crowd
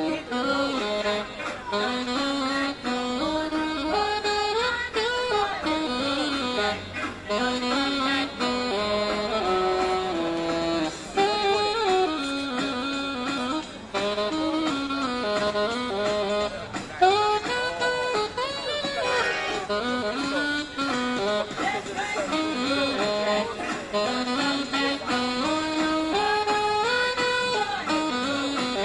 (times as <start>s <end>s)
0.0s 2.0s, 5.3s 8.2s, 16.5s 25.2s